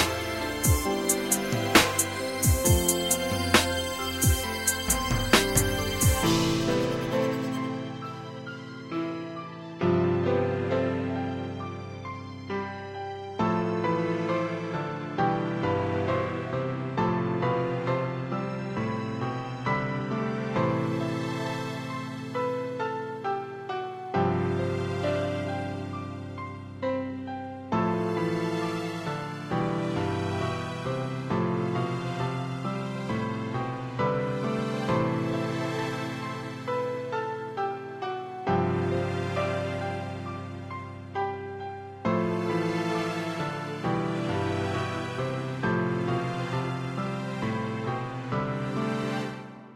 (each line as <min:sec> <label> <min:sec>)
0:00.0 hip hop beat 0:08.6